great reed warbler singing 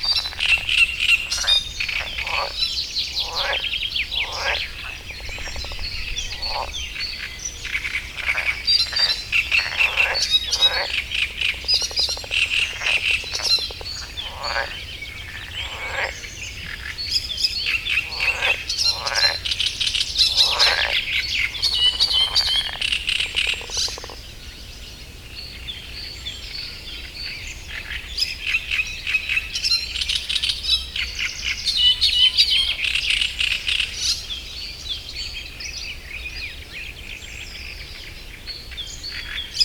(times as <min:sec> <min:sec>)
0:00.0 0:24.8